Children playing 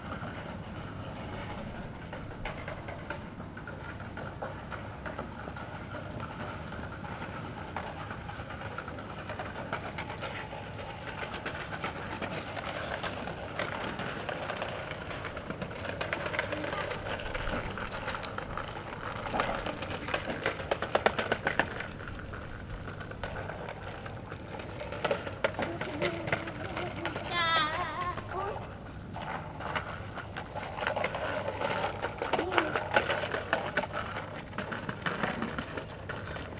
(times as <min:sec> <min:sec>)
0:16.2 0:17.2, 0:25.5 0:28.8, 0:32.3 0:33.0